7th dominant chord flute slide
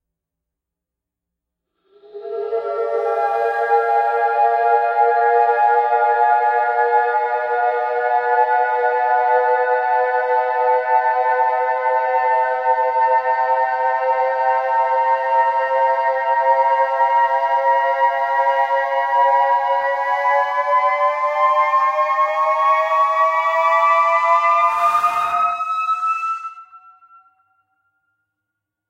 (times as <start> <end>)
24.2 27.2